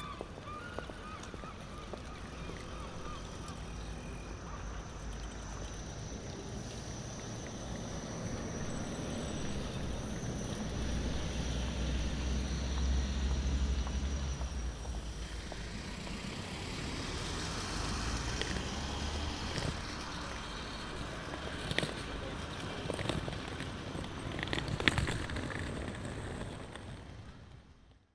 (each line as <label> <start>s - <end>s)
seagulls 0.0s - 3.6s
pedestrians 0.0s - 28.1s
traffic 0.0s - 28.1s